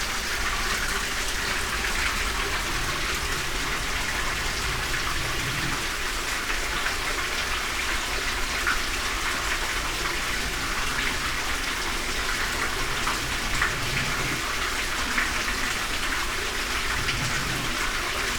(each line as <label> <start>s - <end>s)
breathing of this concrete well 0.0s - 7.2s
breathing of this concrete well 10.2s - 18.3s